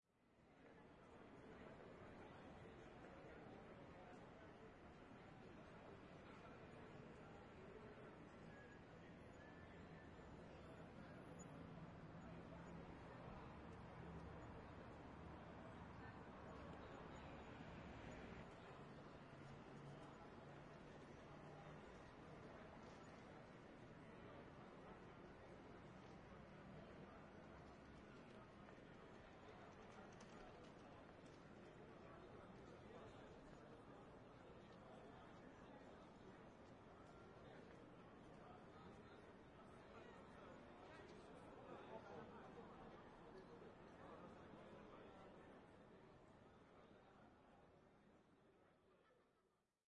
0.6s Faint traffic sounds 47.7s
0.6s businessmen chatter on outside terras 48.1s

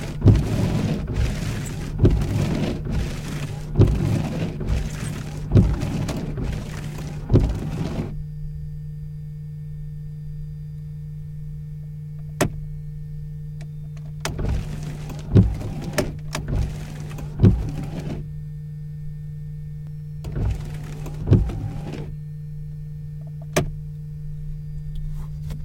0.0s soap liquid jet 8.1s
0.0s wiper 8.2s
14.2s wiper 18.3s
20.2s wiper 22.1s

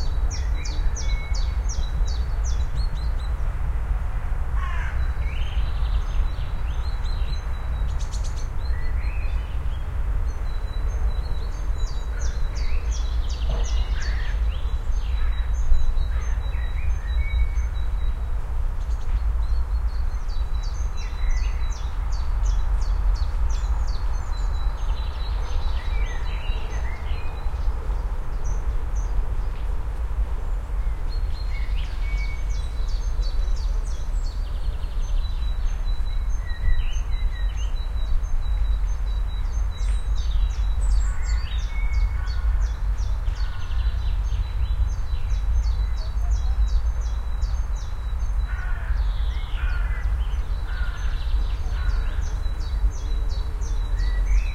0.0s birds 54.5s

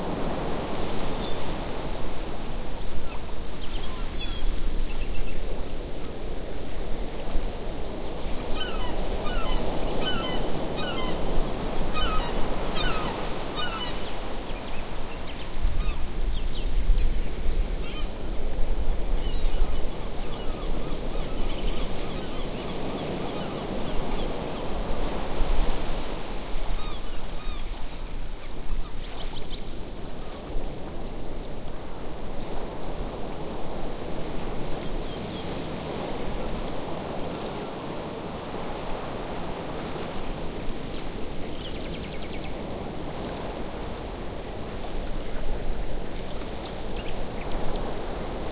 0.0s waves 48.5s
7.9s Seagull on beach 16.2s
17.6s Seagull on beach 48.5s

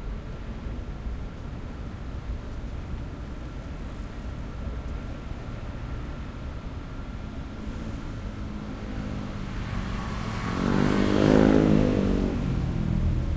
0.0s traffic 13.3s
3.9s motorbike 13.3s

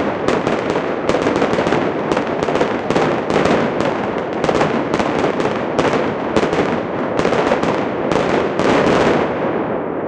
0.0s Fireworks 10.0s

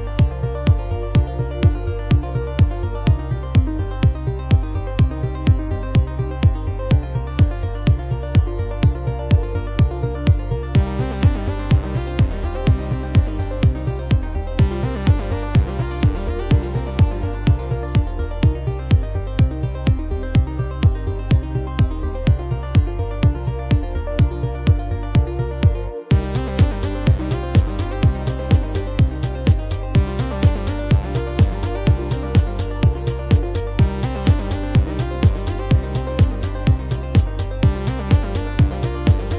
0.0s Bass 39.3s
0.0s Kick 39.3s
26.1s Hi Hats 39.3s

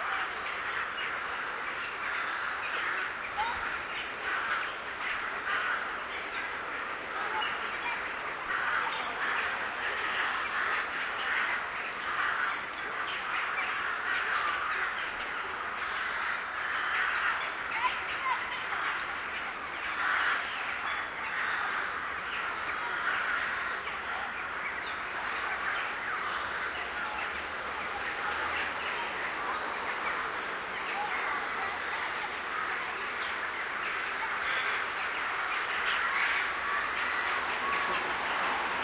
0.0s birds 38.8s

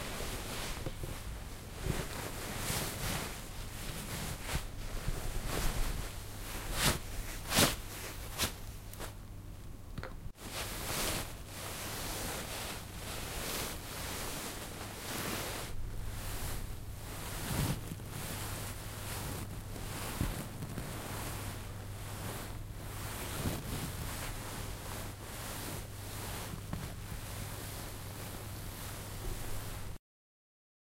0.0s Playing with the fabric in a satin dress 9.2s
10.4s Playing with the fabric in a satin dress 30.0s

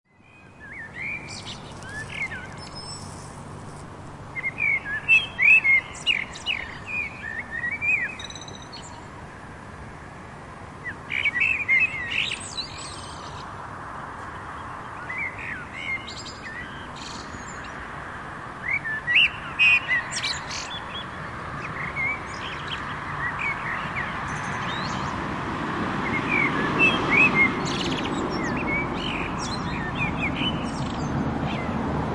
0.1s pair of black birds singing 3.4s
0.1s quiet traffic 32.1s
4.1s pair of black birds singing 9.2s
10.8s pair of black birds singing 17.9s
18.6s pair of black birds singing 25.2s
26.0s pair of black birds singing 31.8s

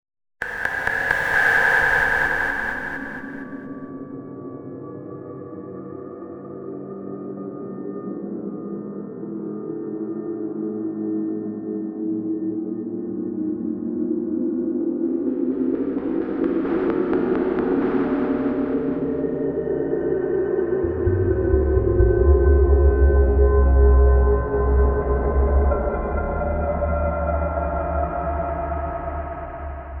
0.4s glitch 3.8s
0.4s wind 3.8s
0.4s drone 3.9s
15.4s drone 30.0s

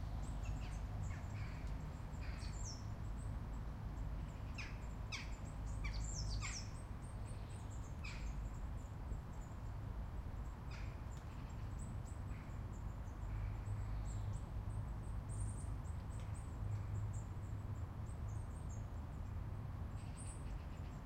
4.2s birdsong 9.5s

